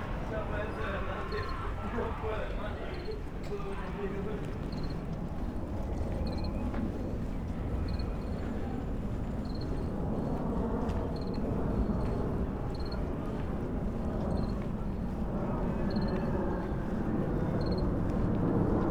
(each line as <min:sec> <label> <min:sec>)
0:04.6 small speaker playing sounds of a cricket 0:05.1
0:12.7 small speaker playing sounds of a cricket 0:13.0
0:15.9 small speaker playing sounds of a cricket 0:16.3
0:17.6 small speaker playing sounds of a cricket 0:17.9